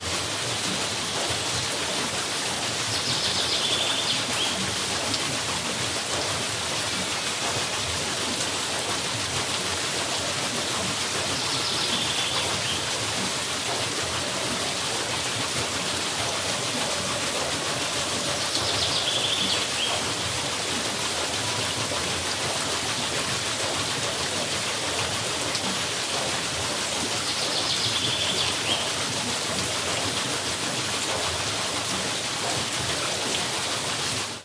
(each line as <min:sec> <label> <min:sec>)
0:00.0 water flowing away 0:34.4